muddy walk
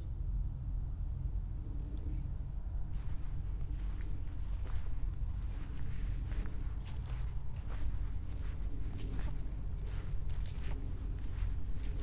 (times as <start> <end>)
2.9 12.0